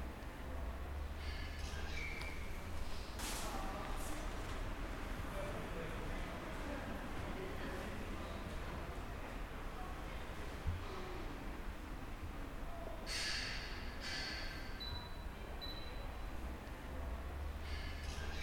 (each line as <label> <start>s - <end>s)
dimmed street soud environnement 0.0s - 18.4s
conversations 1.6s - 13.1s